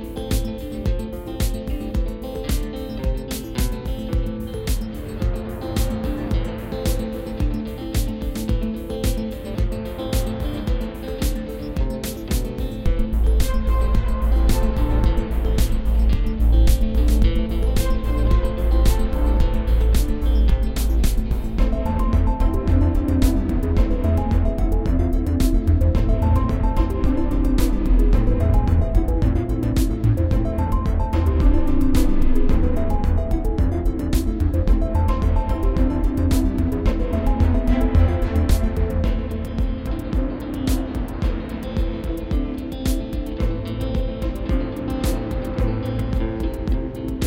faster beat 0.0 - 47.2

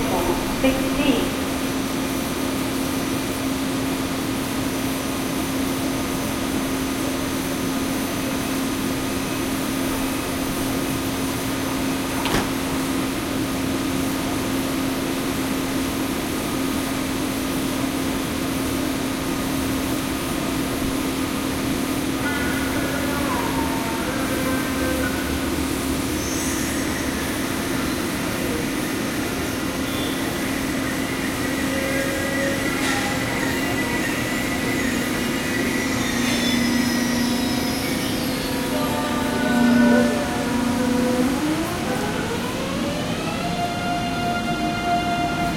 trains are arriving and leaving 0.0 - 45.5

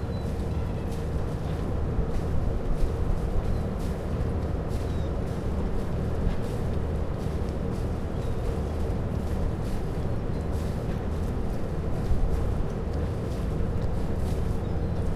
Waves 0.0 - 15.1

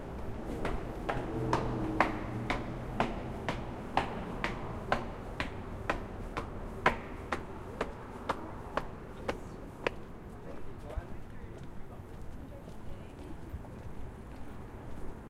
single person footsteps 0.0 - 10.1

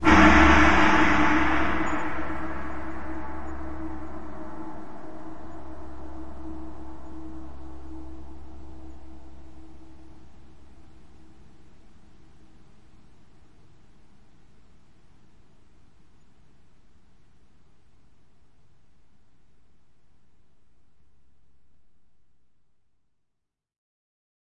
gong 0.0 - 11.5

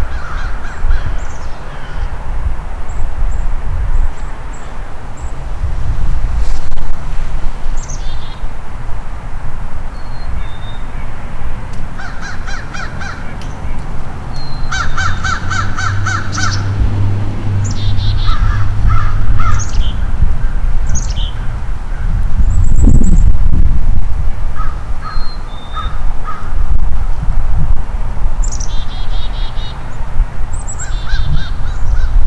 Crows Calling 0.0 - 2.2
distant traffic noise 0.0 - 32.2
wind 0.0 - 32.2
Crows Calling 12.0 - 16.8
Crows Calling 17.6 - 22.2
Crows Calling 24.6 - 26.6
Crows Calling 30.8 - 32.2

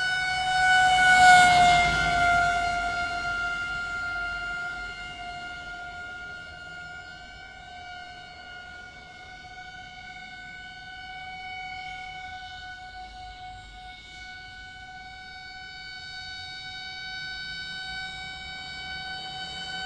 vintage Car (1955) pass by 0.0 - 7.0
siren 0.0 - 19.8

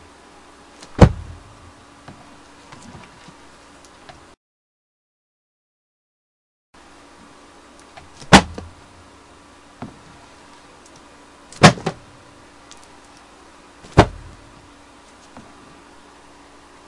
punching books under a pillow 0.8 - 1.6
punching books under a pillow 8.0 - 8.8
punching my leg 8.2 - 8.7
punching books under a pillow 11.5 - 12.1
punching my leg 11.6 - 12.0
punching books under a pillow 13.8 - 14.6

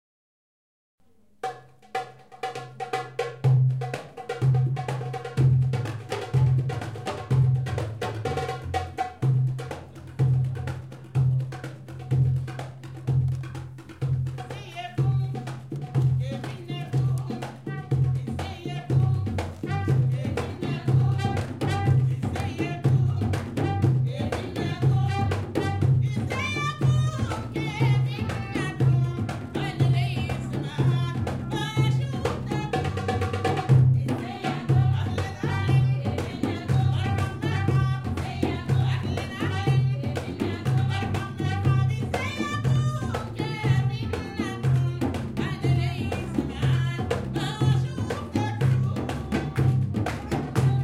Saudian music 17.3 - 42.2

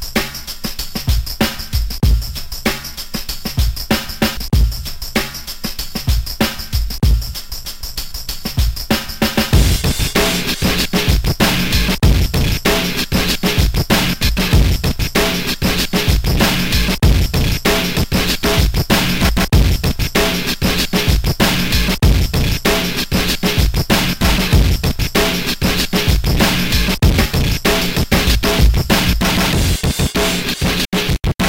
Custom scratching 9.4 - 31.4

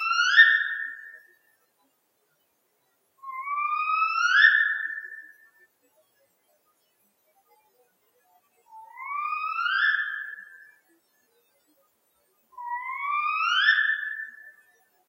Spotted Owl2 3.2 - 5.2
Spotted Owl2 12.6 - 14.4

